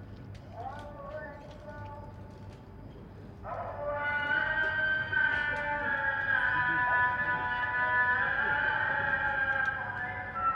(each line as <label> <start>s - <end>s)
Muezzin call to prayer 0.5s - 2.2s
Muezzin call to prayer 3.4s - 10.5s